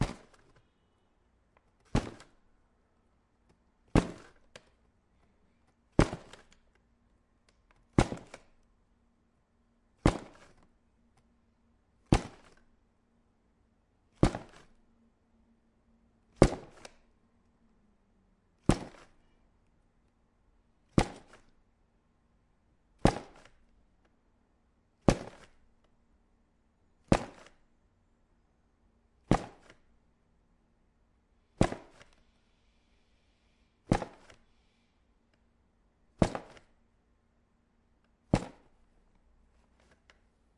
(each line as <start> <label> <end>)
5.9 paper box 6.7
32.1 breathing 35.2
33.8 paper box 34.6
36.2 paper box 36.8